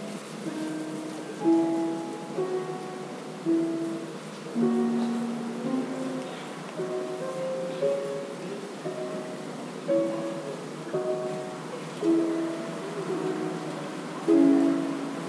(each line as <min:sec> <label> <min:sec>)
0:00.0 playing the piano inside 0:15.2
0:00.0 tourists walking 0:15.2
0:00.0 traffic in the distance 0:15.2